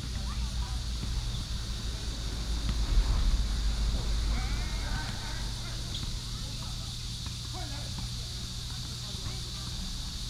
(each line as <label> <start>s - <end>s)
Traffic sound 0.0s - 7.5s
Cicadas 0.0s - 10.2s
play basketball 4.4s - 10.2s